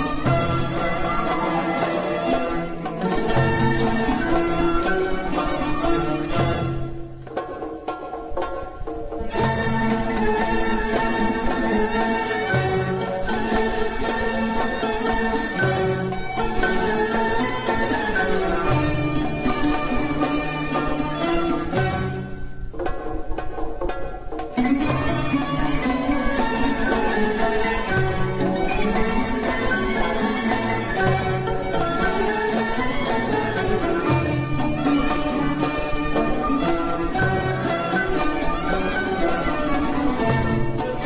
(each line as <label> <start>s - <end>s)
derbouka 0.0s - 41.0s
orchestra 0.0s - 41.0s